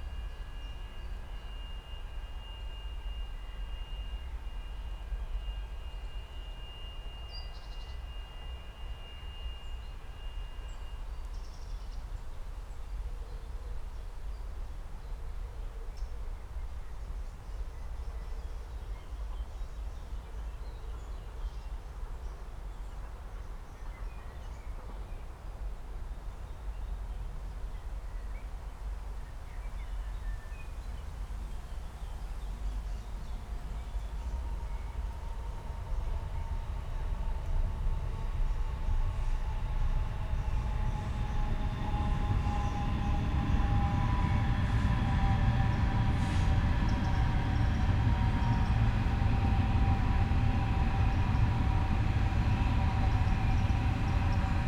trains passing by 0.0 - 11.3
city sounds in a distance 24.5 - 54.6
trains passing by 30.4 - 54.6

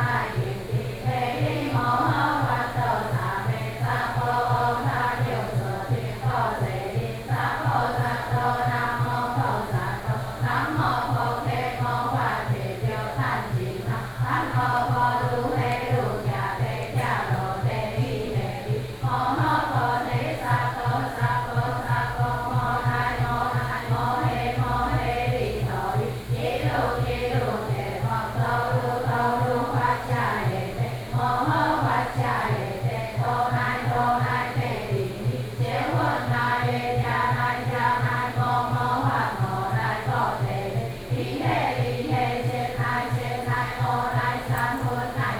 old woman are sitting in the temple chanting together 0.0 - 45.3

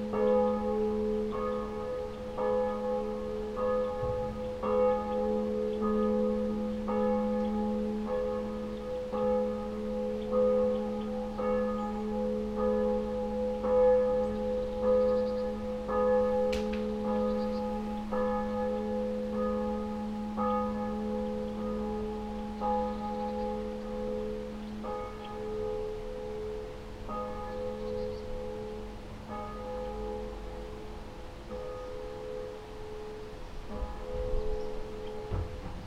morning bells 0.0 - 35.8

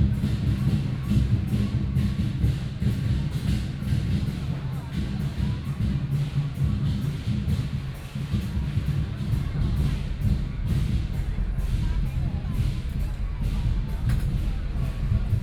traditional performing teams 0.0 - 15.4

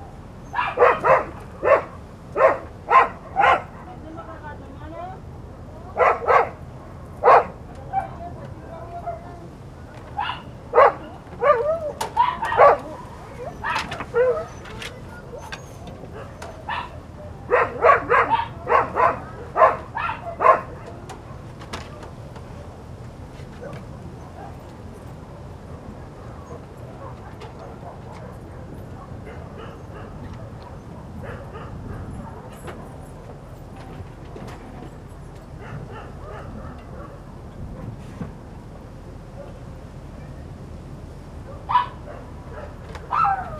Light voices of neighbors 0.0 - 43.5
light wind 0.0 - 43.5
Dog barking 0.5 - 3.9
Dog barking 6.0 - 6.6
Dog barking 7.2 - 8.2
Dog barking 10.2 - 21.5
Dog barking 25.7 - 32.9
Dog barking 35.6 - 37.3
Dog barking 41.4 - 43.5

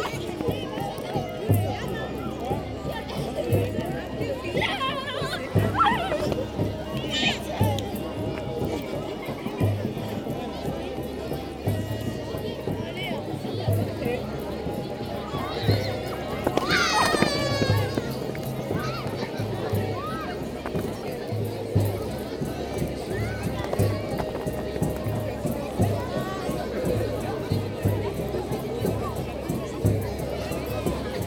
people are celebrating 14.2 - 27.0
very young children jump over the fire 14.8 - 26.5

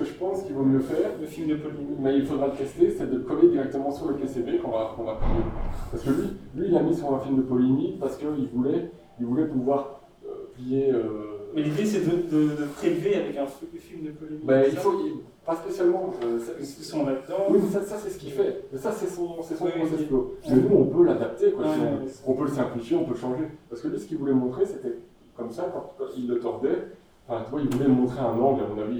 Two persons discussing in the corridors 0.0 - 28.9

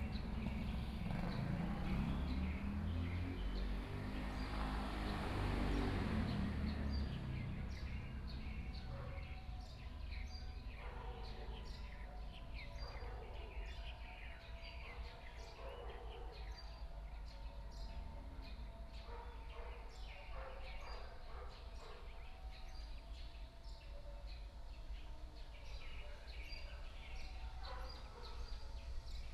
Traffic Sound 0.0 - 11.6
Birdsong sound 0.0 - 29.3

